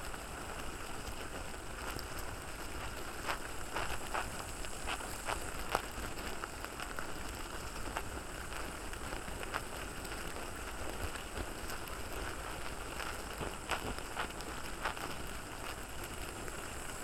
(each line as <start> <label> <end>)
0.0 Ant nest 17.0